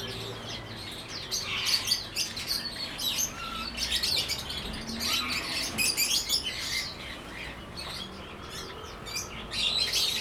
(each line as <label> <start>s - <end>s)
Traffic Sound 0.0s - 10.2s